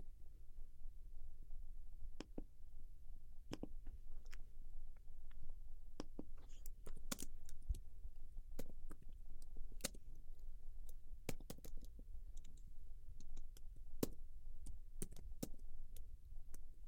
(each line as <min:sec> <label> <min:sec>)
0:06.0 person typing on a keyboard 0:07.8
0:10.8 person typing on a keyboard 0:16.0